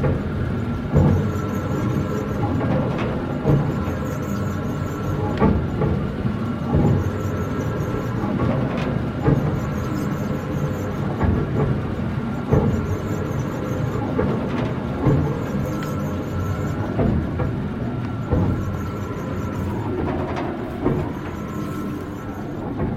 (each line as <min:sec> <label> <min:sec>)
0:00.0 small oil pump in Illinois rumbling and pumping oil 0:22.9